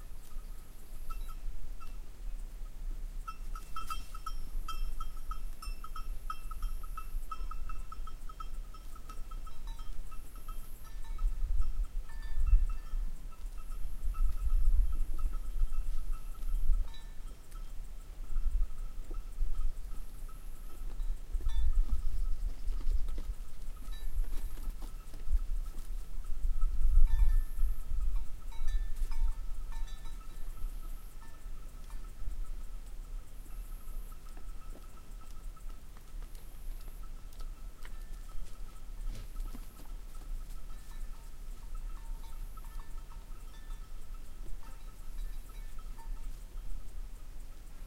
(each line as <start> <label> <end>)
0.0 Wind 47.8
0.0 circadas 47.8
6.1 birds 47.8
18.3 man is walking 27.4
34.1 man is walking 41.8